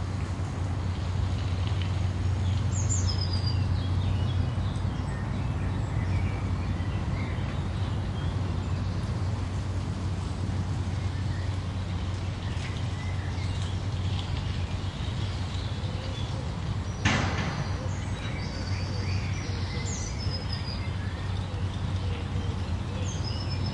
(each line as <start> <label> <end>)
0.0 Distant city traffic 23.7
0.0 birds are singing 23.7
0.0 walking, jogging or on their bikes 23.7